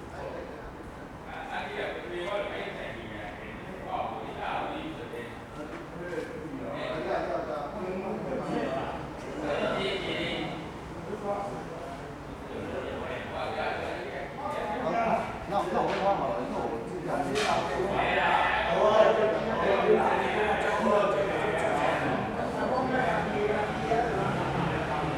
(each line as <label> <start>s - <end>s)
Traffic Sound 20.3s - 25.1s